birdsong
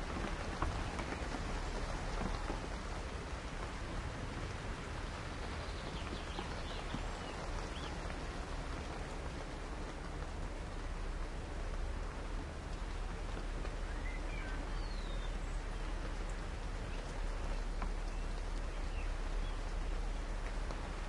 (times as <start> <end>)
5.2 9.0, 13.5 21.0